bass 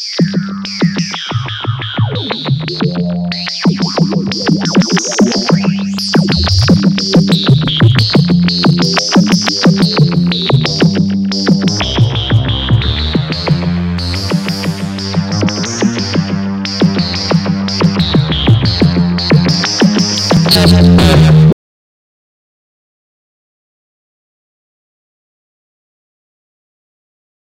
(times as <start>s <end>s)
0.0s 21.6s